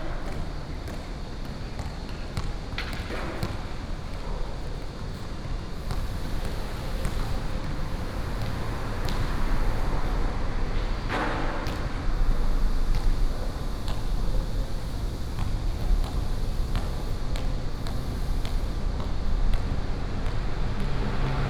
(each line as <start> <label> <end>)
5.8 Traffic sound 21.4